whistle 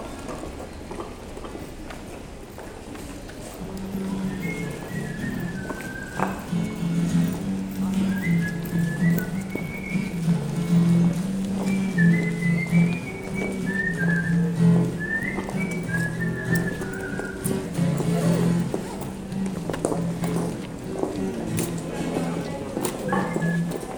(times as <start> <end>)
4.2 7.3, 8.0 10.8, 11.6 17.7, 23.0 23.9